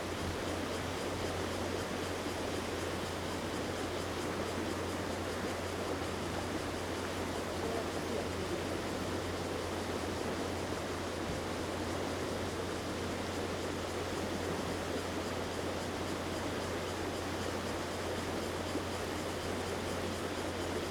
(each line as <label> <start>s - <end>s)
Stream 0.0s - 20.9s